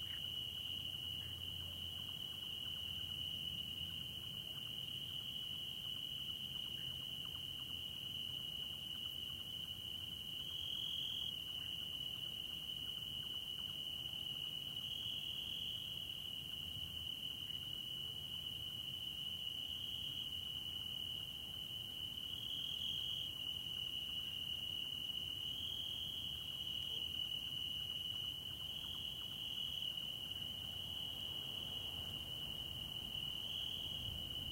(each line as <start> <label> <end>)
0.0 soft frog calls 16.0
0.0 crickets 34.5